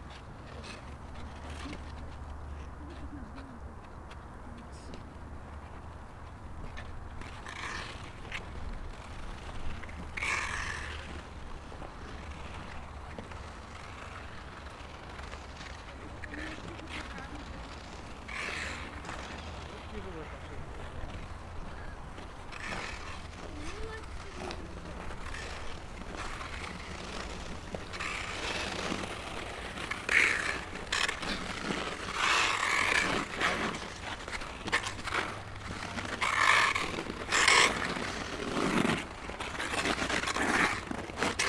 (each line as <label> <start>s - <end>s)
Ice skating from distance 0.0s - 41.4s